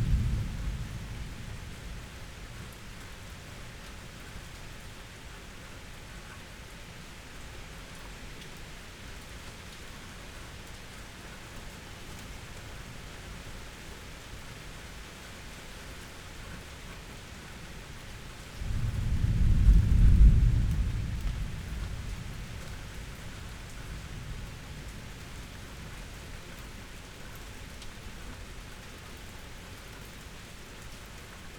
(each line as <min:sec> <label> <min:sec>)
0:00.0 thunder 0:02.8
0:00.0 raindrops 0:31.5
0:00.0 wind 0:31.5
0:18.6 thunder 0:25.1